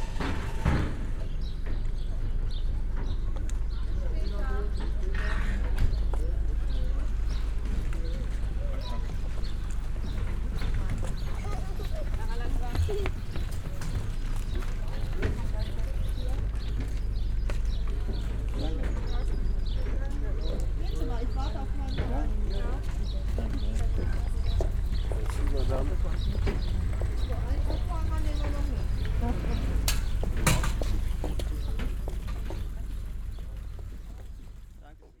0.0s boat arrives 35.2s
0.0s people with bikes entering 35.2s

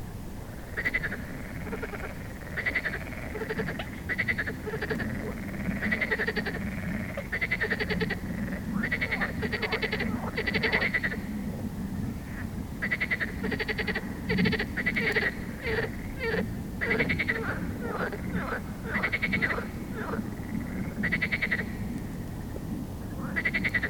0.7s frog song 11.6s
12.2s frog song 22.5s
23.1s frog song 23.8s

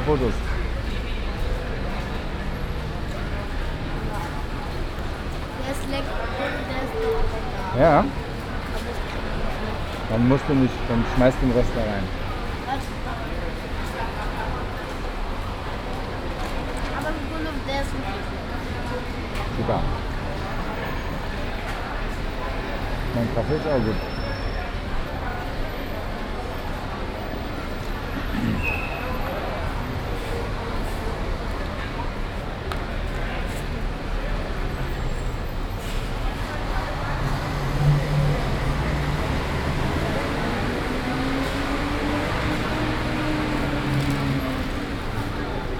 0.0s people 45.7s
0.0s traffic 45.7s
28.6s whistling of the taxi warden 29.3s

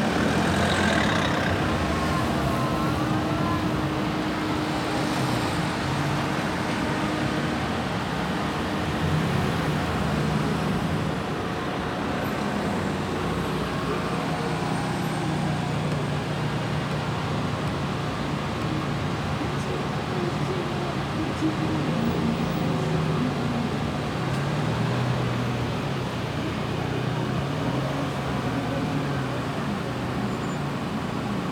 0.0s Traffic jam 31.5s

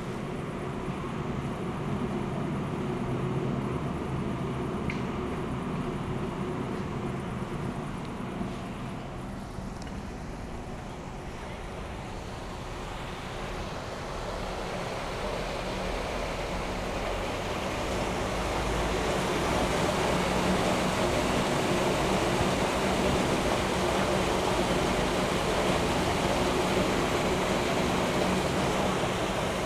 3.6s almost silent river 29.6s
7.5s manholes with water 29.6s

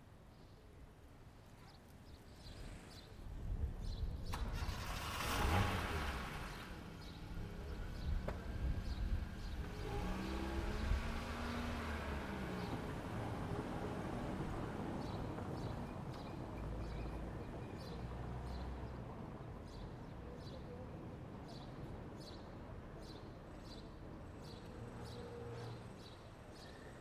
0.3s Light traffic 27.0s

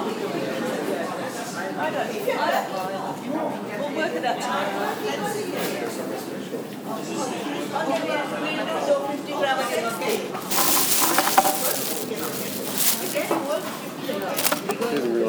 10.1s unwrapping biscuits 15.0s

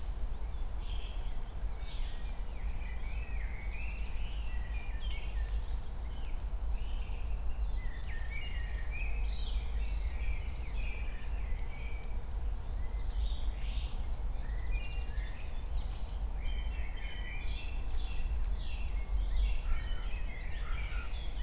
0.0s wind 21.4s

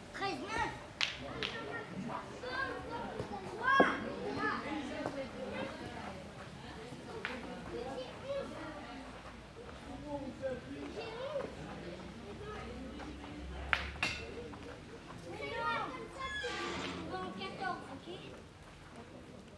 0.2s Two boys playing Petanque 19.5s

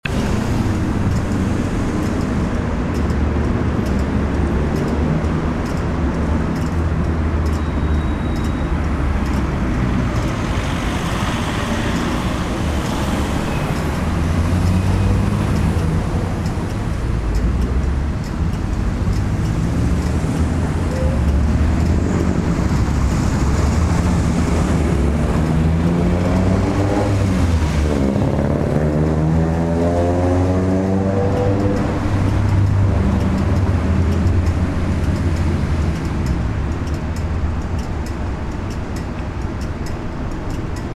0.0s Traffic 40.9s
0.0s clicking traffic lights 30.2s
30.9s clicking traffic lights 40.9s

